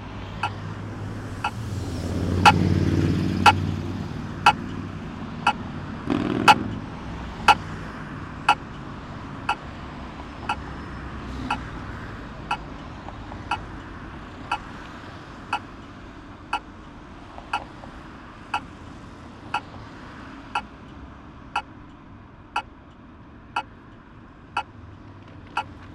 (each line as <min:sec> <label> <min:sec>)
0:00.4 red light signal for pedestrians 0:00.6
0:01.4 red light signal for pedestrians 0:01.6
0:07.4 red light signal for pedestrians 0:07.6
0:08.4 red light signal for pedestrians 0:08.8
0:09.4 red light signal for pedestrians 0:11.8
0:12.4 red light signal for pedestrians 0:12.8
0:13.5 red light signal for pedestrians 0:13.9
0:14.5 red light signal for pedestrians 0:14.7